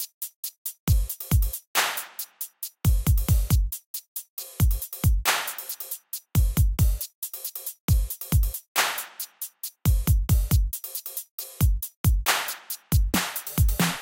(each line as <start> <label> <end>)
0.0 drum machine 14.0